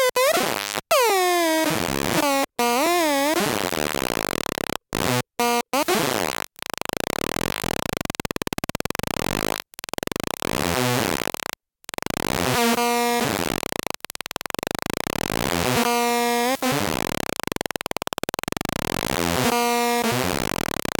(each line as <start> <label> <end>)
0.0 Atari Punk Console 5.7